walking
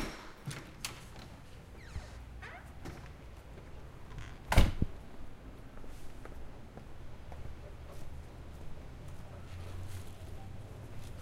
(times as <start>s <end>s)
5.6s 11.2s